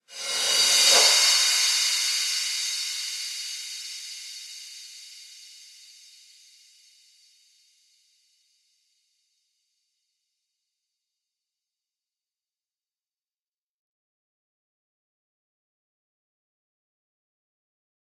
0.0s Reverse Cymbals 7.7s

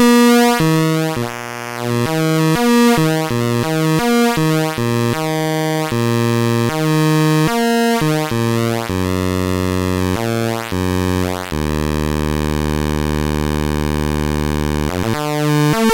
0.0s Atari Punk Console 15.9s

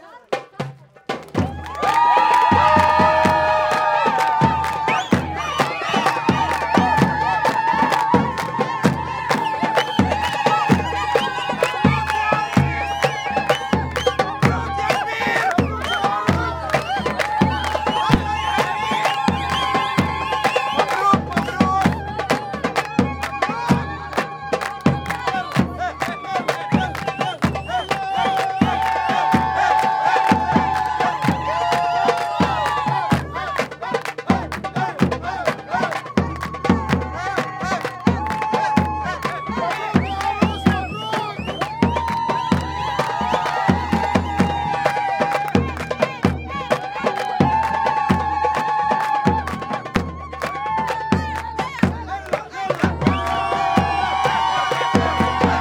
1.3s cheer 55.6s
1.4s shouting 55.6s

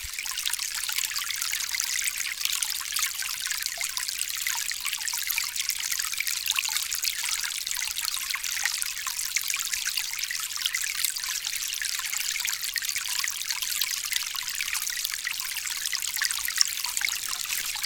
16.7s watering 17.8s

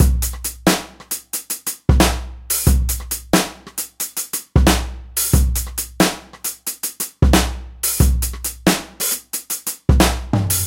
0.0s bass drum very tightly clipped 1.2s
0.0s Hihat 10.6s
1.9s bass drum very tightly clipped 6.6s
7.2s bass drum very tightly clipped 10.6s

